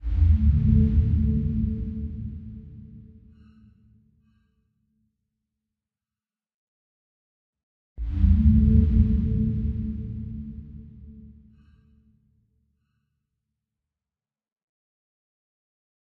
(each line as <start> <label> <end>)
0.0 dark processed sound 3.8
8.0 dark processed sound 11.9